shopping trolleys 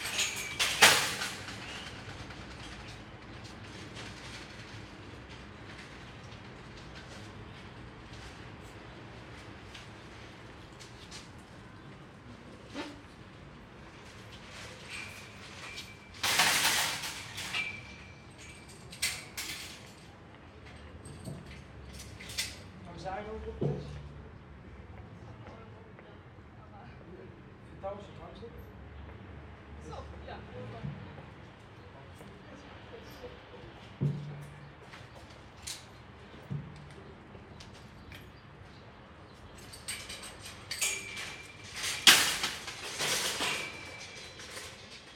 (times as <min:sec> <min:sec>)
0:00.0 0:22.7, 0:39.4 0:45.1